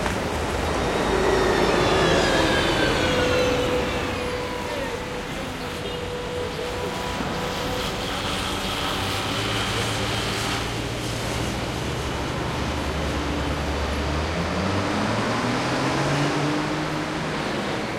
0.0s traffic 17.9s

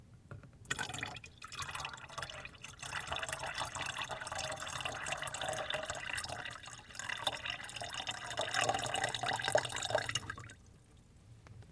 0.7s Water poured into a plastic half-gallon (about 2L) container 10.7s

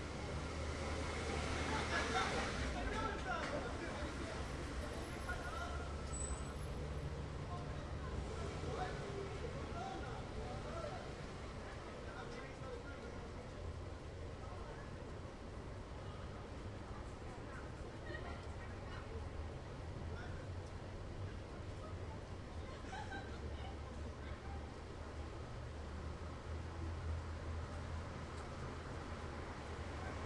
0.0s passing trucks 10.9s
1.0s din of many conversations 27.2s
22.6s laughter 24.0s

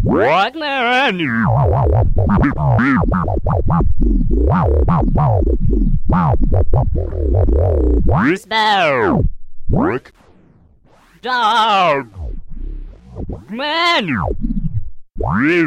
0.0s advanced scratching technique 15.6s

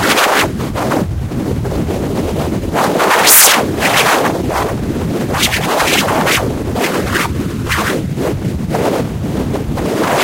0.0s short whipping sounds 0.5s
2.8s short whipping sounds 4.7s
5.3s short whipping sounds 8.0s

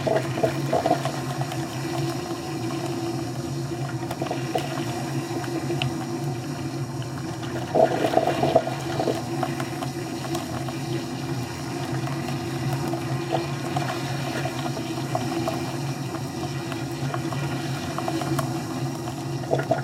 0.0s coffee maker 19.8s

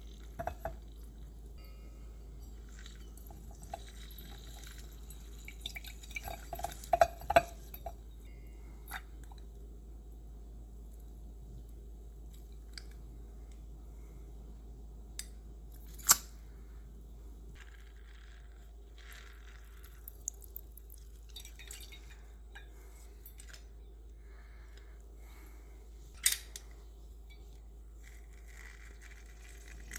0.0s juicer squeezing lemon and lime 8.1s
0.0s drips 9.6s
18.6s drips 25.5s
28.0s juicer squeezing lemon and lime 29.9s

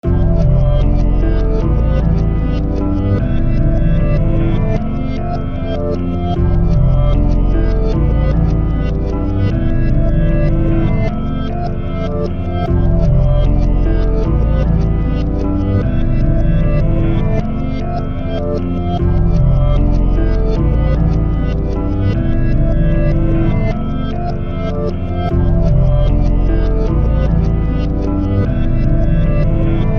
0.0s Bass 29.9s
25.3s Kick Drum 26.0s

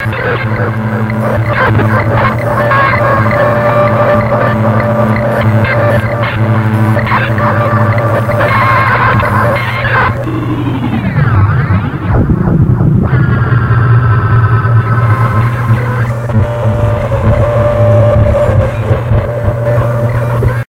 0.0s circuitbent speak&spell 20.6s

